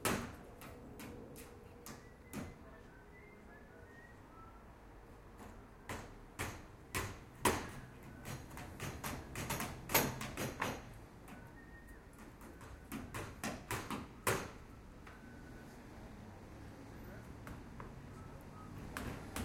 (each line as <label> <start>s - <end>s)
house construction 0.0s - 4.2s
house construction 5.1s - 19.4s